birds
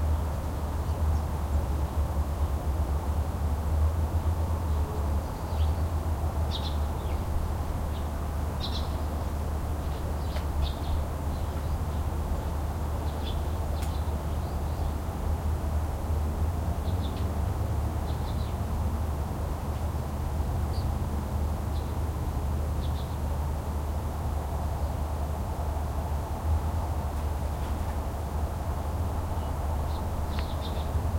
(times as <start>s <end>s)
6.5s 15.1s, 29.2s 31.1s